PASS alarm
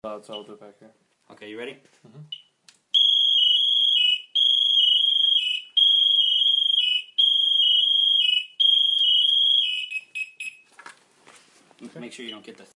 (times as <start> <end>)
3.0 10.6